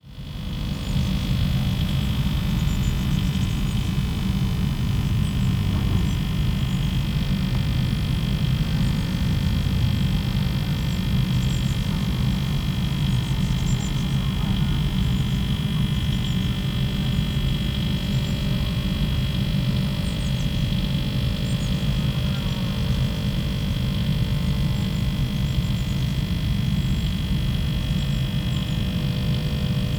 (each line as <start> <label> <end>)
0.0 air conditioning unit 29.9